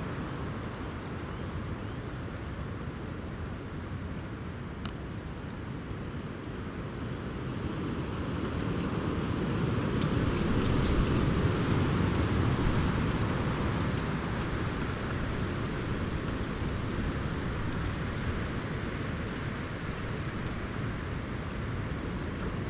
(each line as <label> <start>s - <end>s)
Strong wind 6.6s - 22.6s